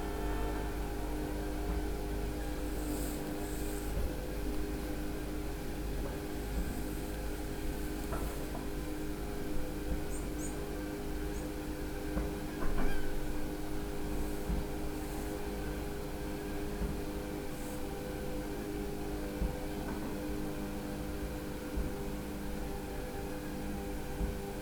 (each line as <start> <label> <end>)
0.0 motor sounds from the rigs on the lake 24.6